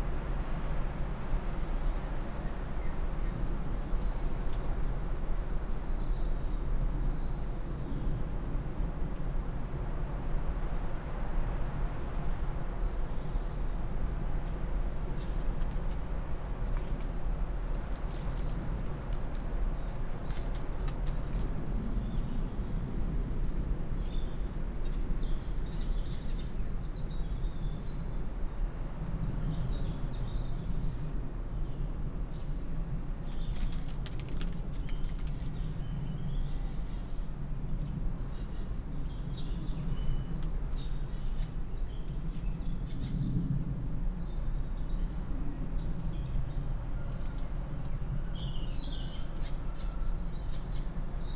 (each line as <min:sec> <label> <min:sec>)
0:15.1 treecreeper 0:21.6
0:15.1 tree sparrow 0:21.8
0:33.3 tree sparrow 0:36.3